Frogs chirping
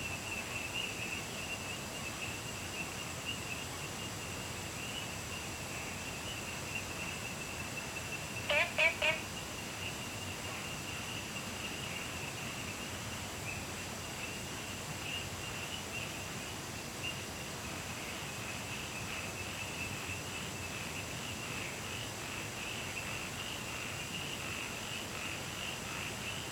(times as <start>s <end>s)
4.8s 14.4s